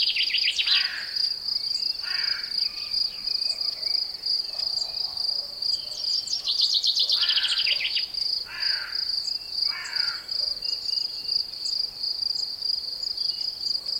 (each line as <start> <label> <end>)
0.0 singing a common chaffinch 0.8
0.0 background of crickets 13.9
0.6 caw of a carrion crow 1.2
2.0 caw of a carrion crow 2.6
7.1 caw of a carrion crow 9.1
9.7 caw of a carrion crow 10.4